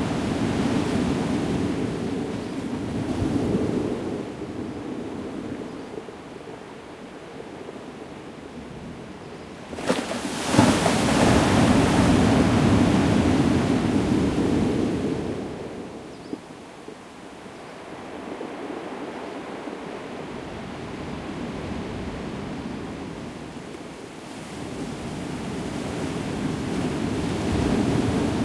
0.0s waves 28.4s

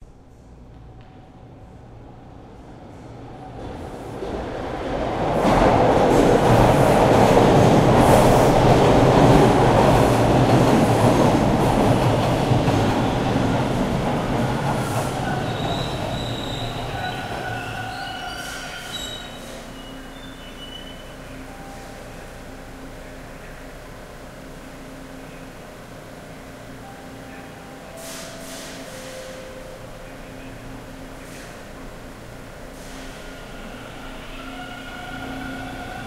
0.0s subway train enters exits station 36.0s

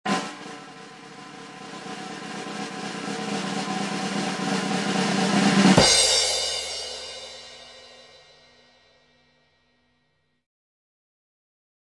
0.0s Long Snare Drum Roll 8.6s
0.1s Cymbal Crash 9.9s

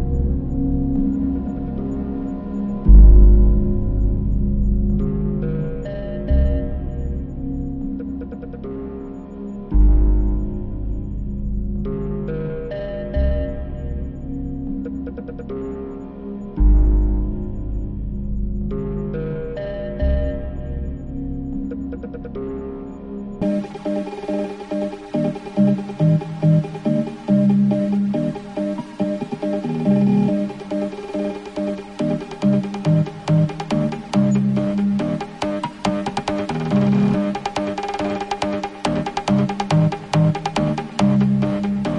0.0s Bass 41.9s
0.0s Drums 41.9s
23.4s high pitched synth 41.9s
23.4s smooth pad sounds 41.9s

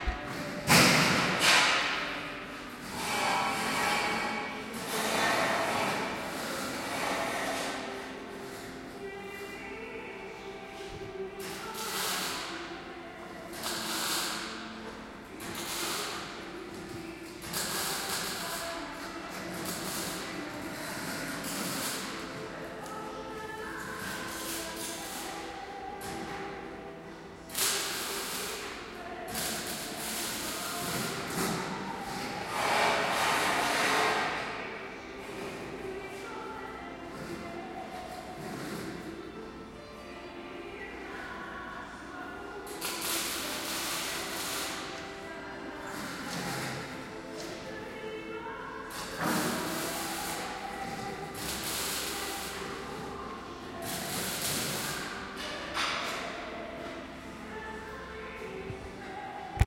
0.0s Machinery 40.1s
11.5s Welding 12.6s
13.5s Welding 14.5s
15.4s Welding 16.2s
19.3s Welding 22.2s
27.5s Welding 31.6s
41.8s Machinery 59.6s
42.7s Welding 44.9s
48.9s Welding 52.9s
53.8s Welding 55.2s

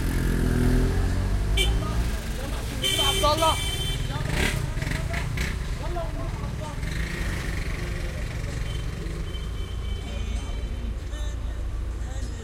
0.0s Traffic 12.4s
1.5s Horns 5.5s

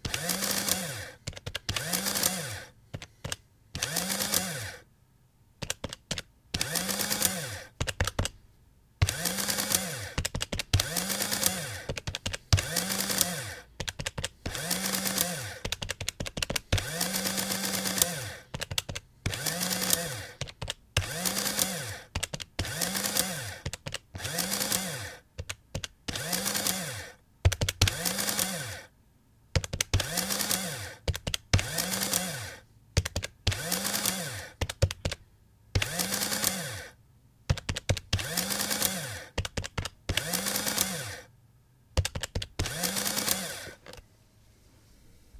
0.0s typing into the adding machine 4.6s
0.0s motor 4.8s
5.6s typing into the adding machine 8.4s
6.6s motor 7.7s
9.0s motor 13.7s
9.0s typing into the adding machine 28.6s
14.4s motor 15.7s
16.5s motor 25.2s
26.1s motor 27.2s
27.8s motor 28.9s
29.6s typing into the adding machine 32.4s
29.9s motor 32.6s
33.0s typing into the adding machine 35.2s
33.4s motor 34.9s
35.8s typing into the adding machine 36.8s
35.8s motor 37.0s
37.5s typing into the adding machine 41.1s
38.1s motor 39.4s
40.1s motor 41.3s
42.0s typing into the adding machine 44.0s
42.6s motor 44.0s

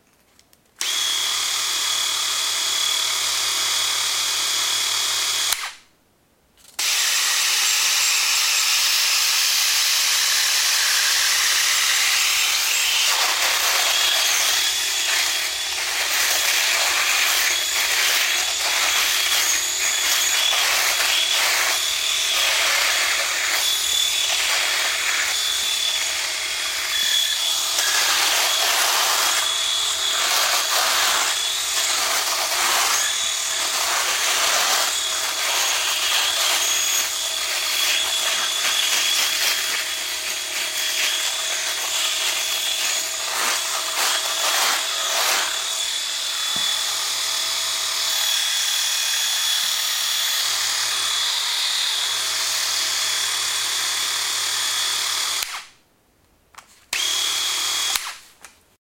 6.8s Shaver 55.7s

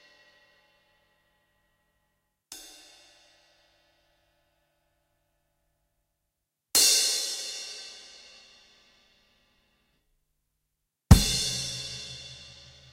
11.1s kick 12.4s
11.1s cymbals 12.9s
11.1s hats 12.9s
11.1s snare 12.9s

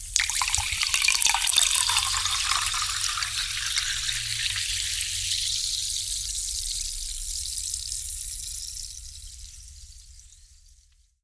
0.0s champagne being poured into a champagne flute 6.2s

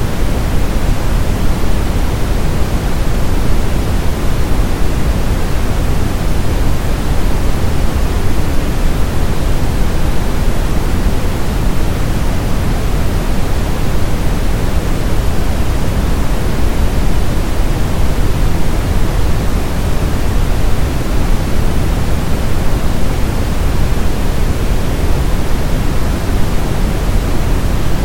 0.0s Waterfall 28.0s

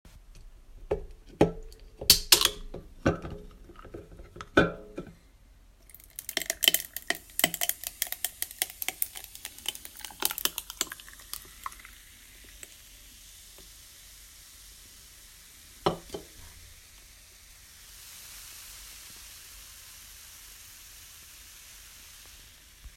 5.8s Pouring Nalu in a glass with ice 13.1s

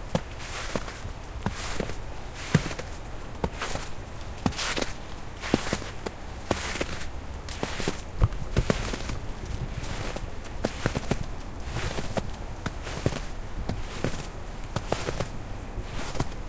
0.0s Walking in snow 16.4s

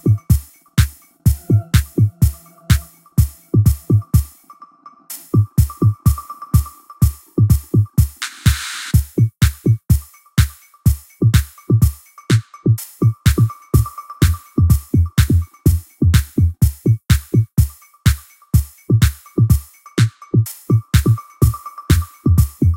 0.0s Drums 4.3s
0.0s synth 6.6s
5.3s Drums 22.7s

